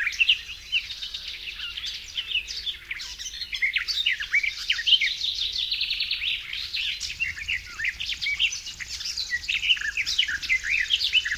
0.0s garden warbler 11.3s
0.0s grasshopper warbler 11.3s
0.0s icterine warbler 11.3s

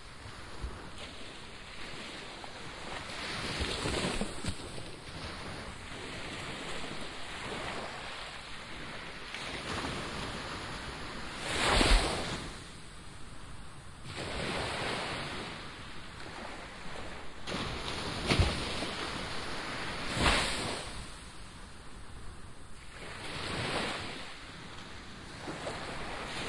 0.0s waves crashing all around me 26.4s

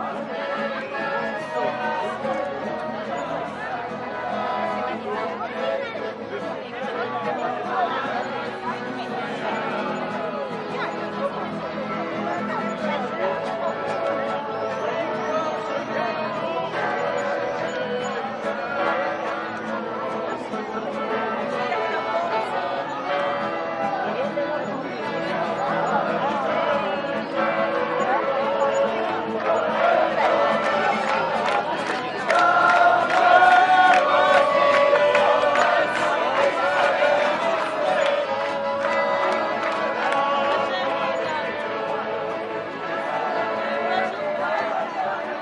0.0s Wedding procession (singing, clapping, playing) 45.4s
0.0s crowd of tourists 45.4s
0.0s singing 45.4s
30.6s clapping 40.6s

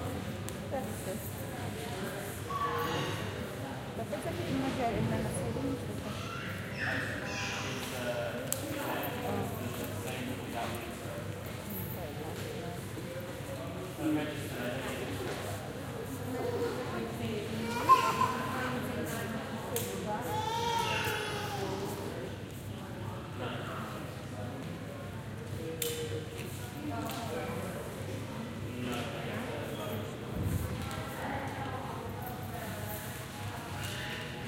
0.0s people 34.4s

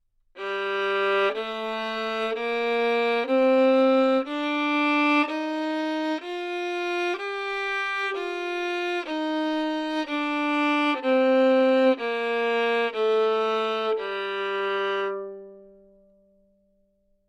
0.4s Violin 15.8s

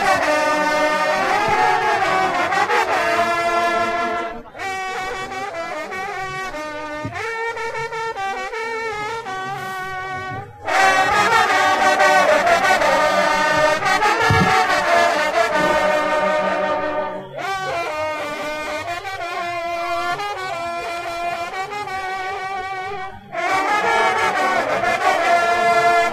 0.0s hunting horn players team 26.1s

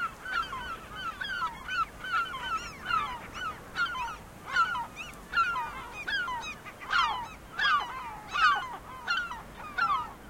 0.0s Seagulls 10.2s

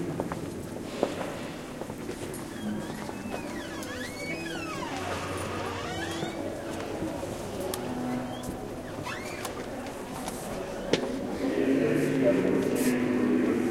0.0s reverberant steps 13.7s
2.4s squeaky door that tourists open /close again and again 6.7s
6.3s murmur of praying 13.7s
8.1s squeaky door that tourists open /close again and again 9.8s

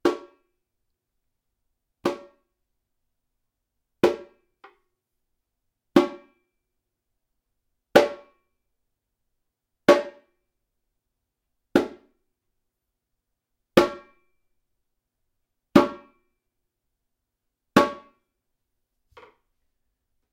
0.0s repinique (samba drum), hit with an open hand 0.4s
2.0s repinique (samba drum), hit with an open hand 2.4s
4.0s repinique (samba drum), hit with an open hand 4.4s
11.8s repinique (samba drum), hit with an open hand 12.1s
13.8s repinique (samba drum), hit with an open hand 14.1s
15.8s repinique (samba drum), hit with an open hand 16.2s
17.8s repinique (samba drum), hit with an open hand 18.2s

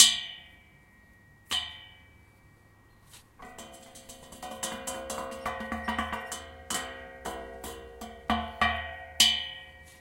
3.4s Handrail being hit 10.0s

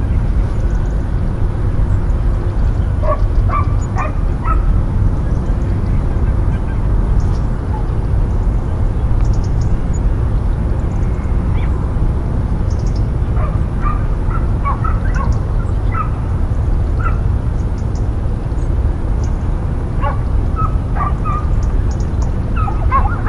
0.0s birds 23.2s
0.0s near highway bridge 23.2s
0.4s insects 1.3s
3.0s two dogs barking in the distance 4.8s
12.6s insects 13.2s
13.3s two dogs barking in the distance 16.3s
20.0s two dogs barking in the distance 21.5s
22.6s two dogs barking in the distance 23.2s

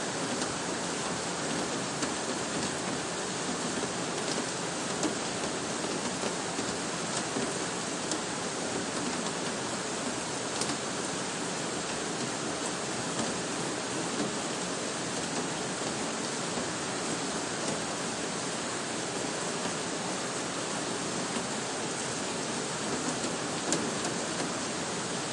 0.0s raindrops falling on the plastic shade 25.3s

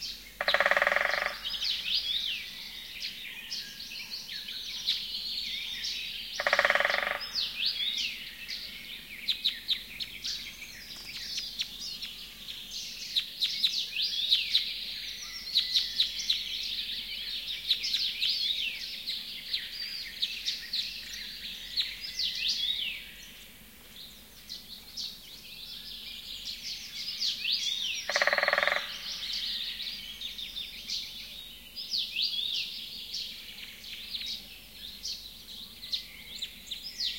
0.0s Birdsong 37.1s
0.4s woodpecker 2.6s
6.4s woodpecker 8.1s
27.6s woodpecker 31.1s

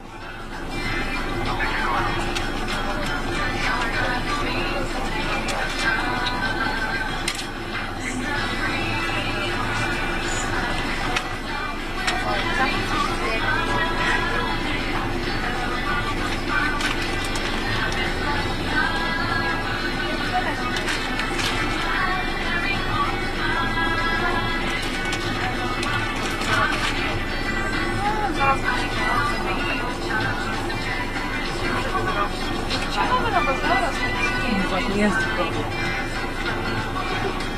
0.0s bus 37.5s
0.0s traffic jam 37.5s
0.0s voices 37.5s

